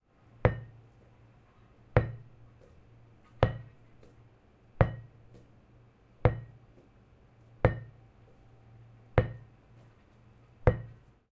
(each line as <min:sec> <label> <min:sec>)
0:10.6 Ball Bounce On Carpet 0:11.0